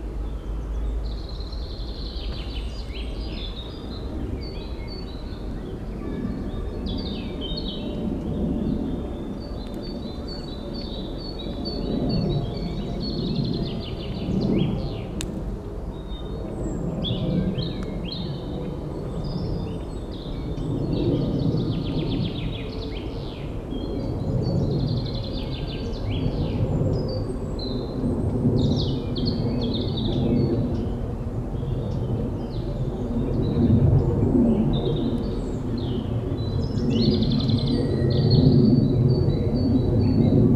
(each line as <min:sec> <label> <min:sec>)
0:03.2 plane is crossing the sky 0:40.5